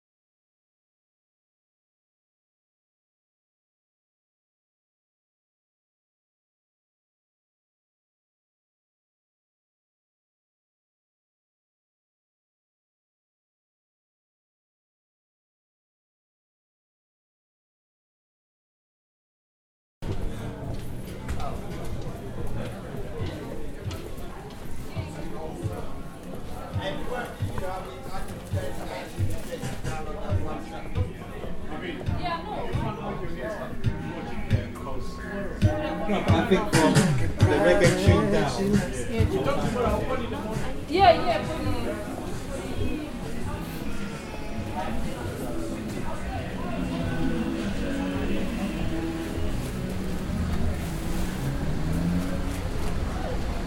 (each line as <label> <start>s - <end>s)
different languages 20.1s - 53.6s